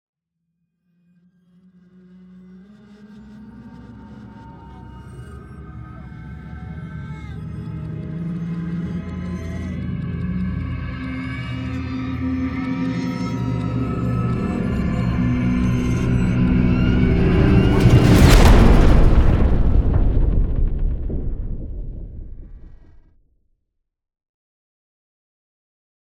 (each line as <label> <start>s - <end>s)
riser 8.4s - 22.8s
impact 14.1s - 23.1s